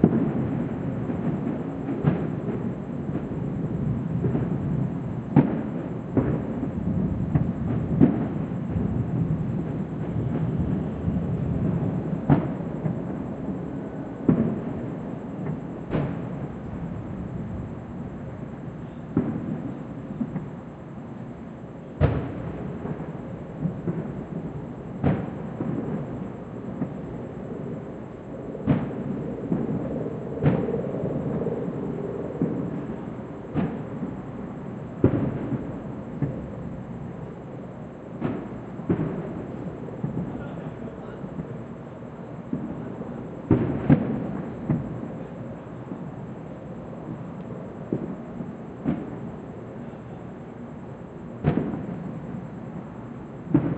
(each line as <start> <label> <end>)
0.0 distant fireworks 53.7